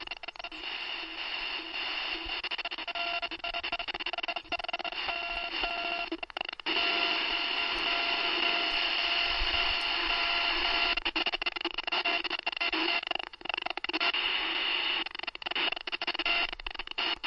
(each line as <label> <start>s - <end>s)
Radio Static 0.0s - 17.2s